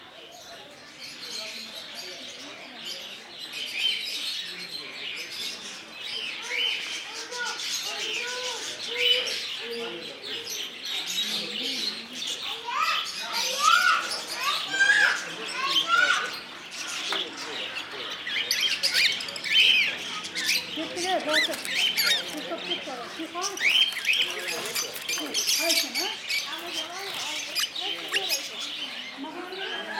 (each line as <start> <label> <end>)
0.0 birds 29.9
6.4 livestock 29.9